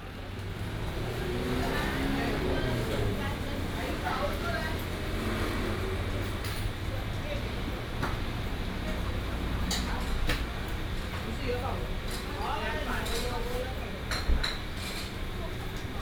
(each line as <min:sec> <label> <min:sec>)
0:00.0 Traffic sound 0:12.6